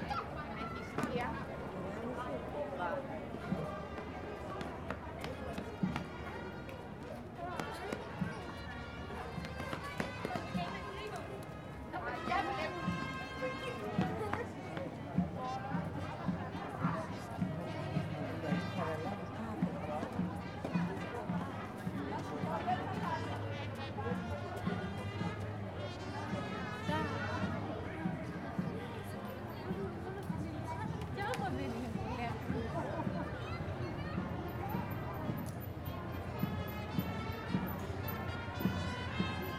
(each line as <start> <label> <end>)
0.0 People talking on the street 39.5
3.4 percussion 39.5
8.4 band playing wind instruments 14.2
22.5 band playing wind instruments 28.1
36.0 band playing wind instruments 39.5